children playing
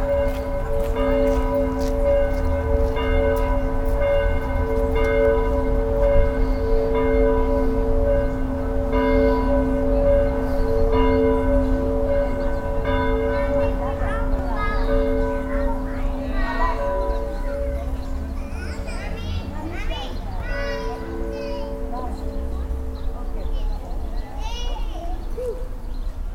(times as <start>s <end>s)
8.2s 26.3s